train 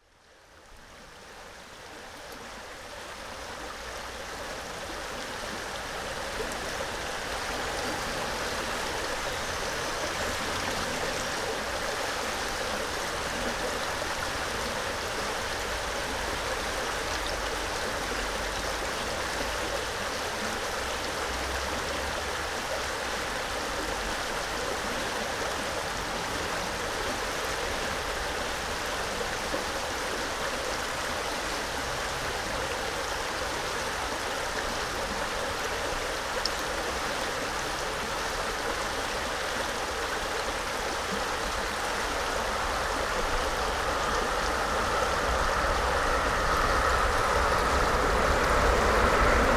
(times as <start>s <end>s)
6.4s 36.2s, 41.0s 49.5s